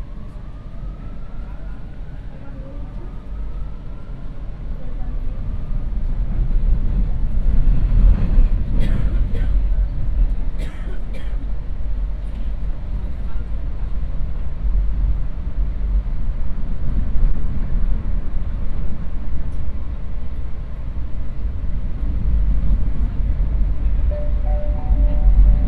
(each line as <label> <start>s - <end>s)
Metro 23.6s - 25.6s